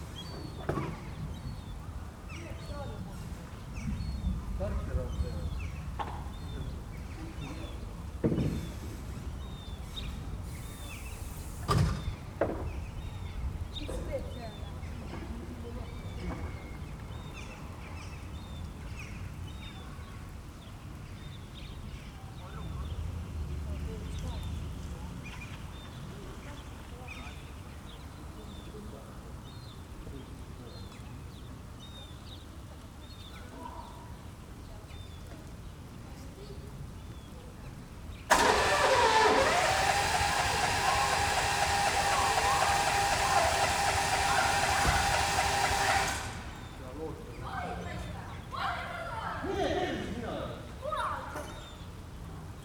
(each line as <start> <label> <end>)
38.3 motor pump 46.8